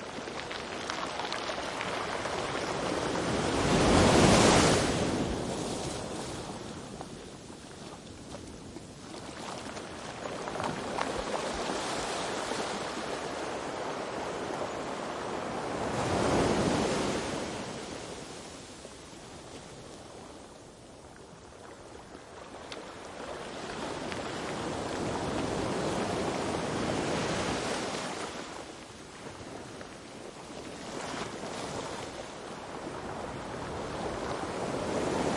0.0s the bag and surf of the waves 35.3s
0.1s stones roll under water 3.0s

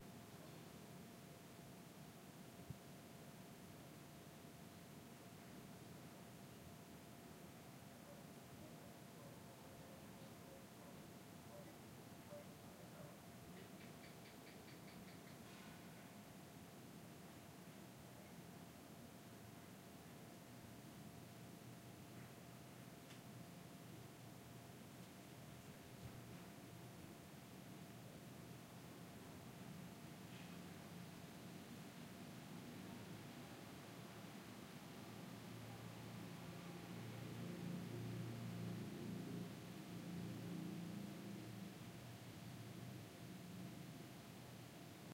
7.9s faint sound of a lizard/gecko 16.3s
29.6s faint sound of a lizard/gecko 31.2s

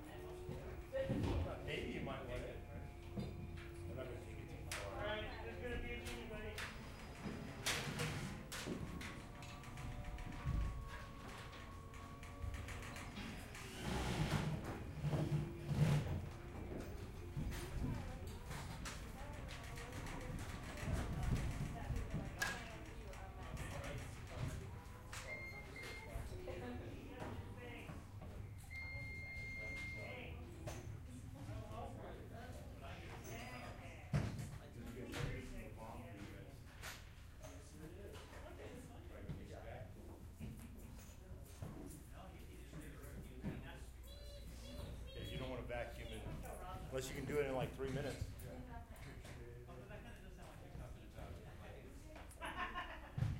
0.0s Carpenters working on putting railing onto platforms 30.0s

